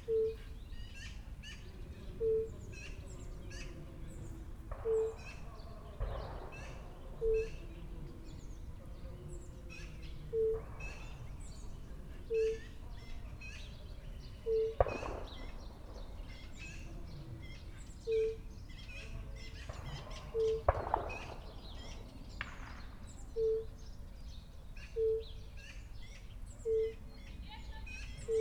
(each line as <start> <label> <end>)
0.0 fire-bellied toads calling 1.6
0.0 distant announcements of a short marathon 28.4
3.1 shots all the time 24.0
4.7 fire-bellied toads calling 6.4
14.4 fire-bellied toads calling 15.5
18.0 fire-bellied toads calling 18.5
19.5 fire-bellied toads calling 22.0
23.4 fire-bellied toads calling 23.7
27.9 fire-bellied toads calling 28.4